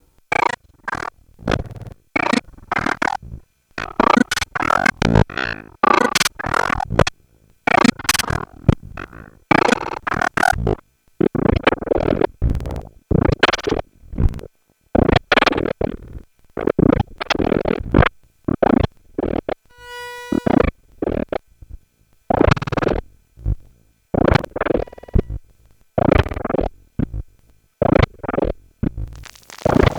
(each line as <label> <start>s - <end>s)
looping slices of micro-sound 29.0s - 29.9s